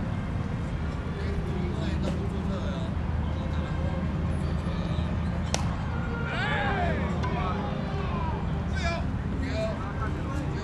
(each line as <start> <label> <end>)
4.5 Baseball 10.6